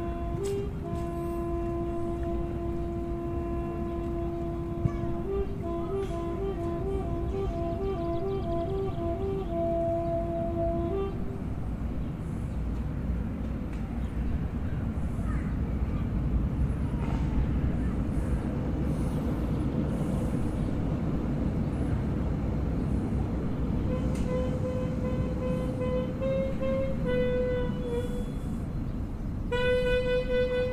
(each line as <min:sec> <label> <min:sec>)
0:00.0 Saxophone player 0:11.6
0:23.8 Saxophone player 0:28.6
0:29.5 Saxophone player 0:30.7